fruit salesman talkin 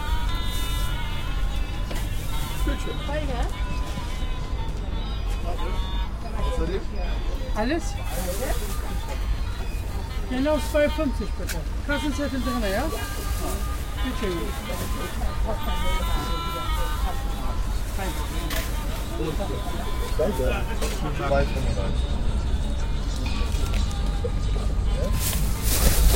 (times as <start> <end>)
19.0 22.0